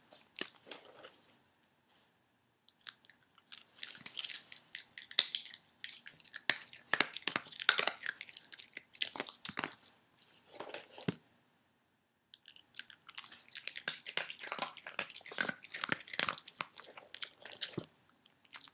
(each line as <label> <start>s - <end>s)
Dog eating cookies 2.7s - 11.2s
Dog eating cookies 12.4s - 18.7s